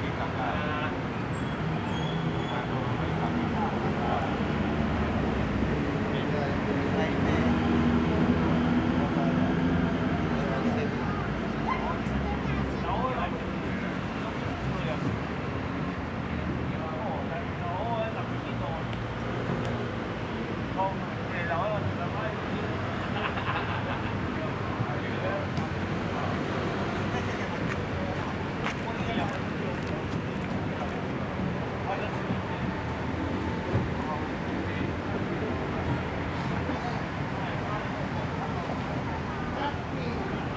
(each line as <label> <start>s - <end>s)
Traffic Sound 0.0s - 40.5s